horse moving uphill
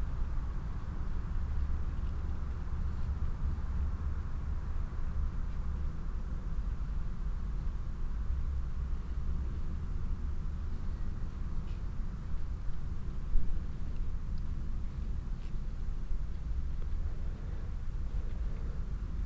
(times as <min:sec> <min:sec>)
0:11.3 0:19.2